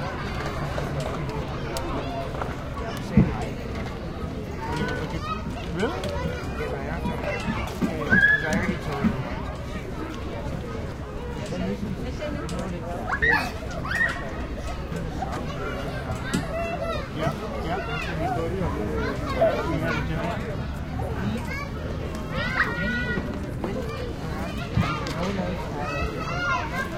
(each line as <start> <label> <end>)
13.0 Kids Playing 26.9